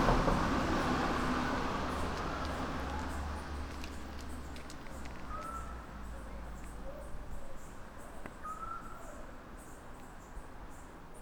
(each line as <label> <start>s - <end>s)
cars 0.0s - 6.9s